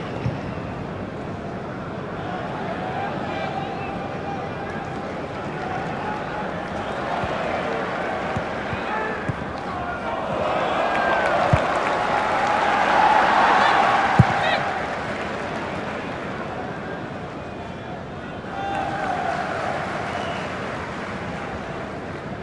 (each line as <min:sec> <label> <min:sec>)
0:00.0 soccer/crowd noise 0:22.4